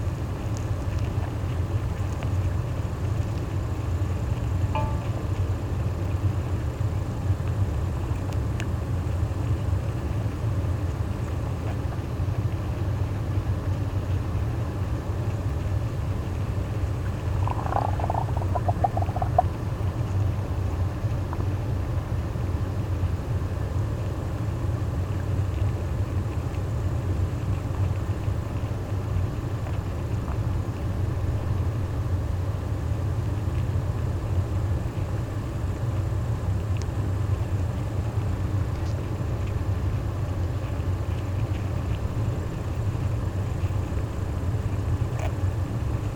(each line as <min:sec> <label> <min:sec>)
0:04.7 dam 0:05.4
0:16.7 ant nest 0:20.9